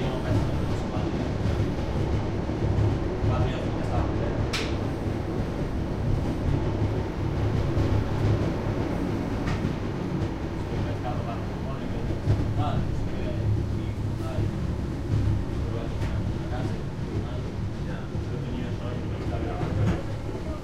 0.0s little train climbing the Pyrenees mountains 20.6s

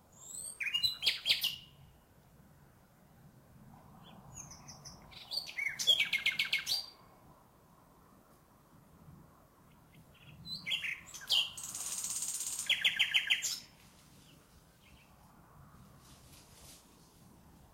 0.0s nightingale 2.0s
3.9s nightingale 7.0s
9.6s nightingale 15.3s

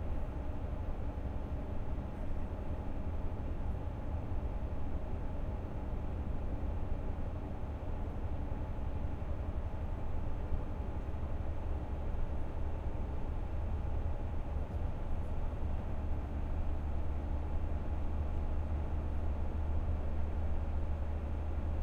0.0s bus long-distance coach ride over german highway 21.8s

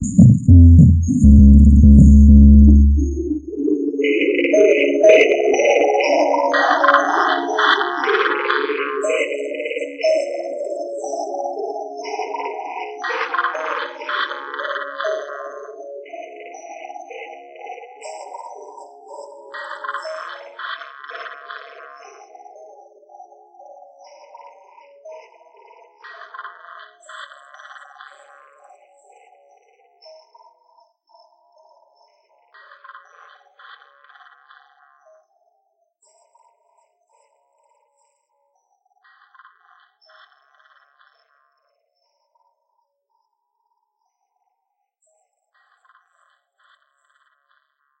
0.0s drum synth 3.6s

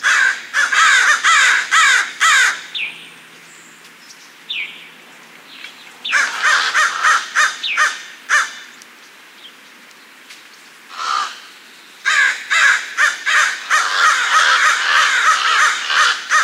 0.0s Crow Calls 2.9s
6.0s Crow Calls 8.8s
10.9s Crow Calls 16.4s

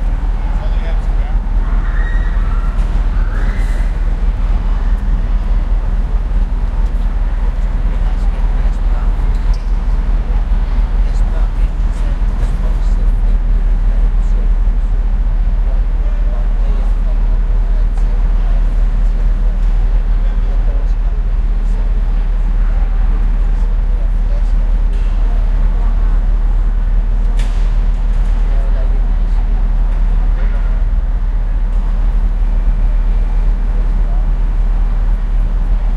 0.0s chatter 35.9s
0.0s traffic 35.9s

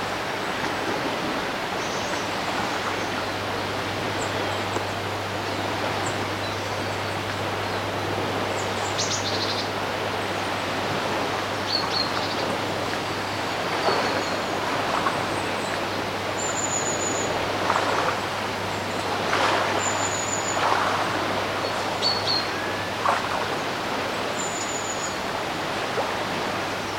0.0s water splashing on the banks of the river 26.9s
0.0s waves on the shore of the loch 26.9s
11.4s birds 25.3s

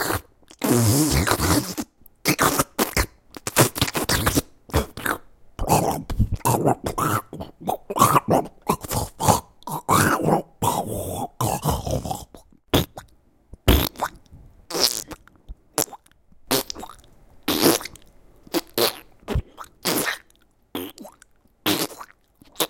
0.0s Slime monster sounds 13.1s

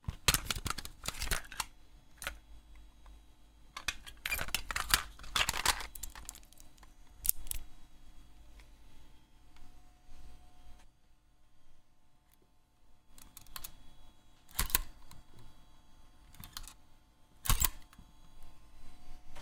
0.0s Loading and unloading a cassette tape in a walkman 2.4s
3.8s Loading and unloading a cassette tape in a walkman 7.6s
13.2s Loading and unloading a cassette tape in a walkman 13.8s
14.4s Loading and unloading a cassette tape in a walkman 15.2s
16.3s Loading and unloading a cassette tape in a walkman 16.8s
17.4s Loading and unloading a cassette tape in a walkman 18.0s

